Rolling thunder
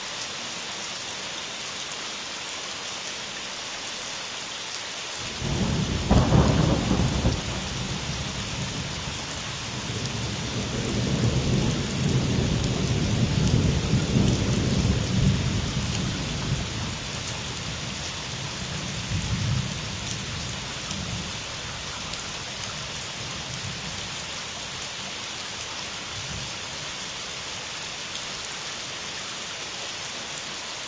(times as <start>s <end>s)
5.2s 21.4s